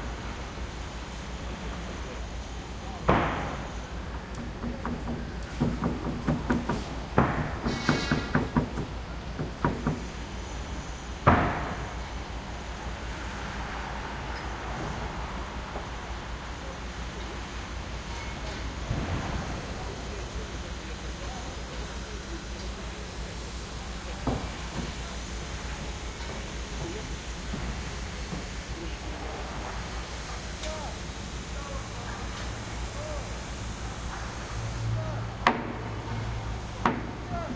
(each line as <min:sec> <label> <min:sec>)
0:00.0 vehicles 0:37.5
0:00.0 workers 0:37.5
0:04.6 hammer 0:10.1